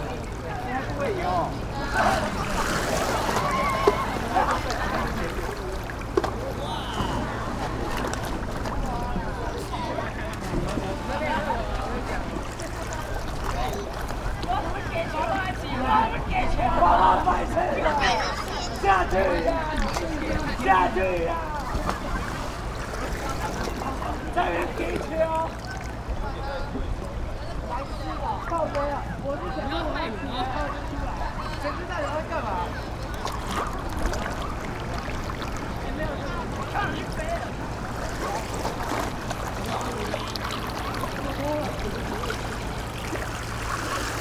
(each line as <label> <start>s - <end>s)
Play in the water 0.0s - 44.2s